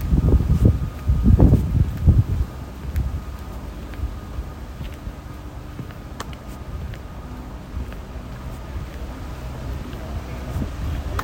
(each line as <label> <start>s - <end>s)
Cars 0.0s - 11.2s
walk on a windy day 0.0s - 11.2s